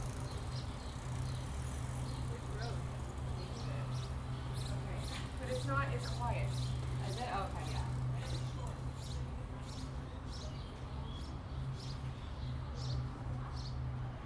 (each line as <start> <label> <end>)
0.0 nearby highway 9.6
0.0 Bikes 14.2
0.0 boats 14.2